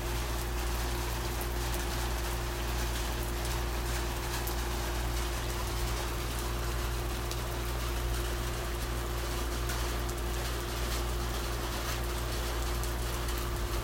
Rain hitting he metal storage thing 0.0 - 13.8

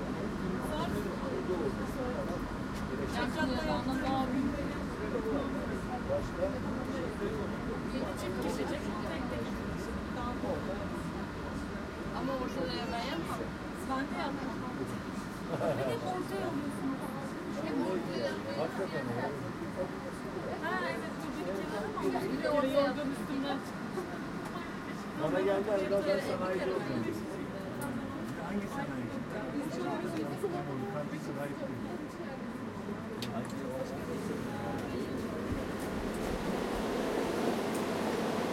Underground funikuler ride 33.7 - 38.5

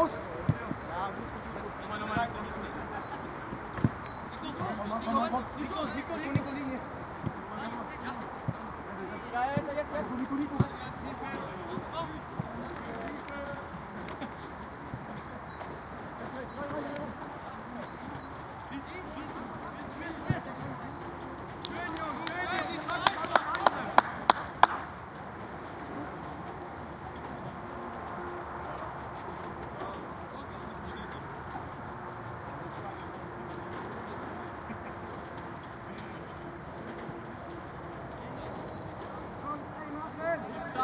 Kids (14-16) playing a real soccergame 0.0 - 40.8

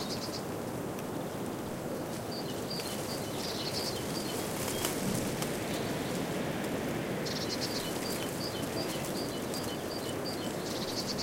birds 0.0 - 0.6
wind blowing through an European Beech hedge 0.0 - 11.2
birds 2.0 - 11.2

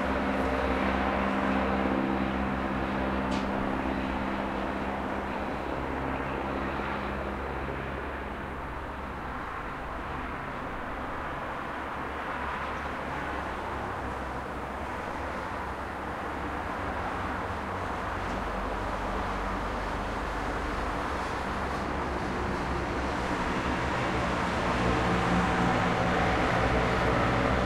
cars 0.0 - 27.6

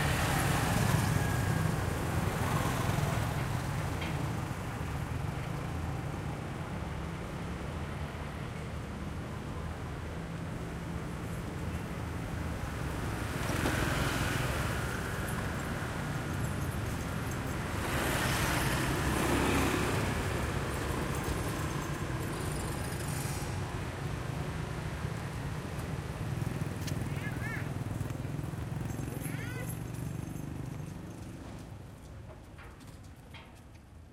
Motorbikes 0.0 - 34.0
cars 0.0 - 34.1
people passing by 11.3 - 33.8

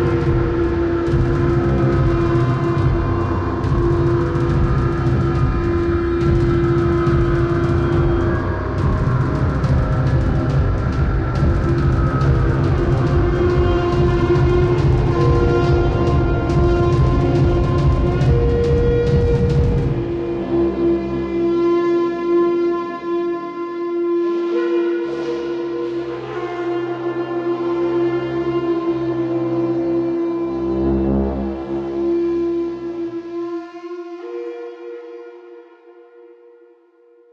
bass 0.0 - 34.4

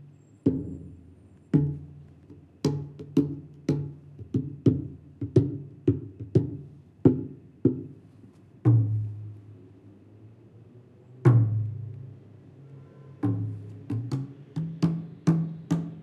Playing various Asian drums 1.6 - 8.0
Playing various Asian drums 8.7 - 9.3
Playing various Asian drums 11.3 - 11.9
Playing various Asian drums 13.2 - 16.0

